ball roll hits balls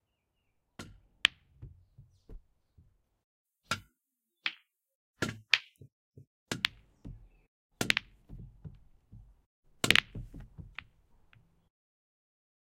6.5s 11.5s

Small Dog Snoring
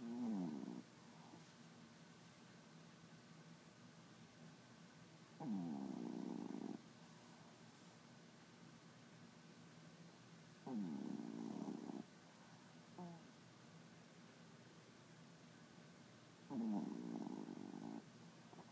0.0s 1.5s, 5.4s 6.8s, 10.6s 12.1s, 13.0s 13.3s, 16.5s 18.7s

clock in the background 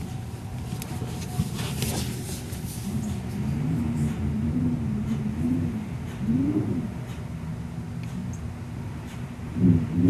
2.8s 10.0s

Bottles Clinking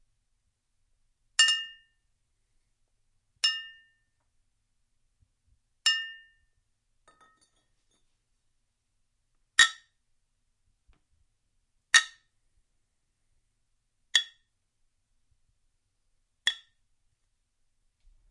7.1s 7.6s

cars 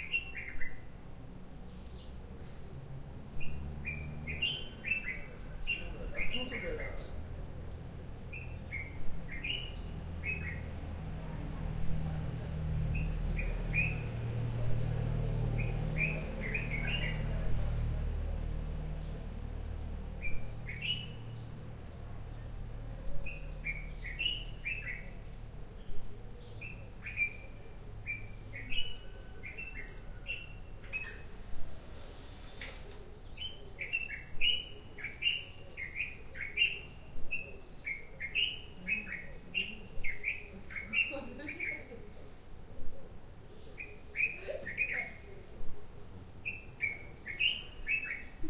0.0s 33.1s

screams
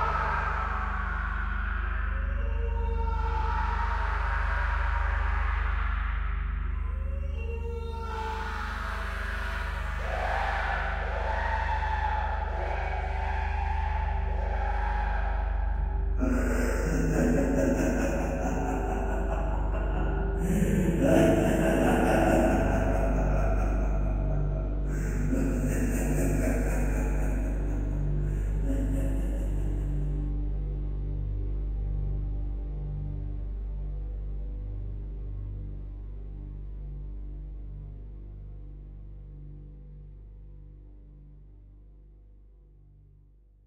0.0s 30.1s

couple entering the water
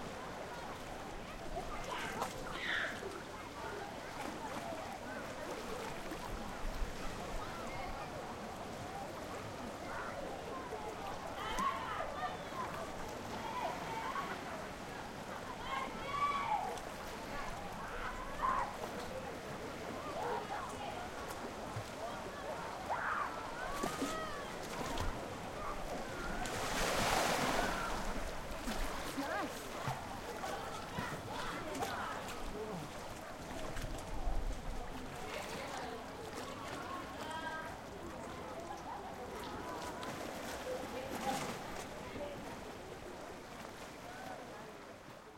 11.0s 44.9s

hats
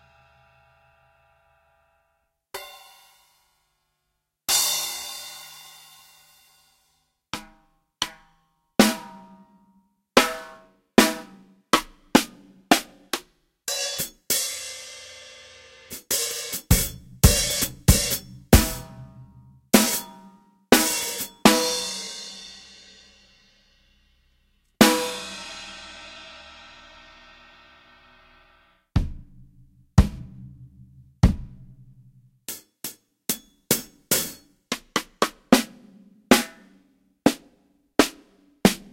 16.0s 19.0s

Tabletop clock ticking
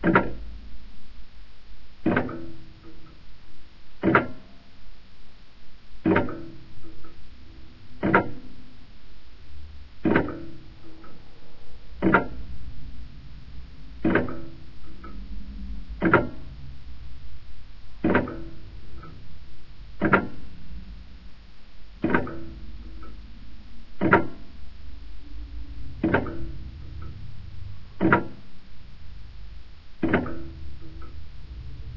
0.0s 0.4s, 2.0s 3.2s, 4.0s 4.5s, 6.0s 7.2s, 8.0s 8.5s, 10.0s 11.1s, 12.0s 12.4s, 14.0s 15.2s, 16.0s 16.4s, 18.0s 19.2s, 20.0s 20.4s, 22.0s 23.2s, 24.0s 24.5s, 26.0s 26.5s, 28.0s 28.4s, 30.0s 31.1s

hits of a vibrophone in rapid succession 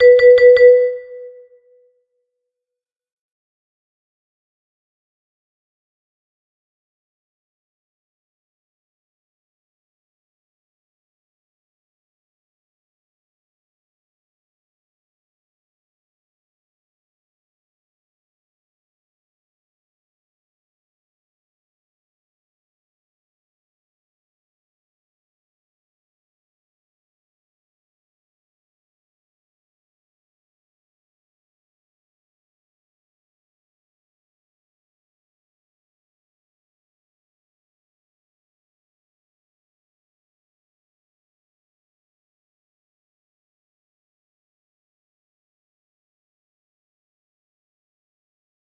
0.0s 1.4s

